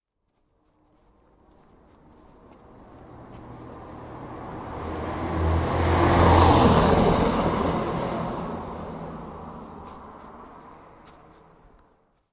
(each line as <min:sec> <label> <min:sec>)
0:01.1 Vehicle passing 0:11.9